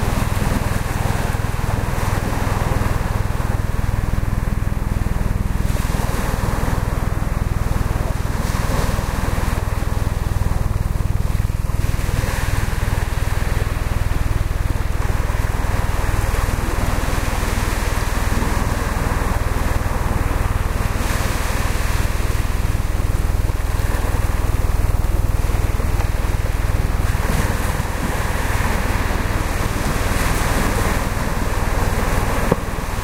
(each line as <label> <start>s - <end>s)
waves 0.0s - 33.0s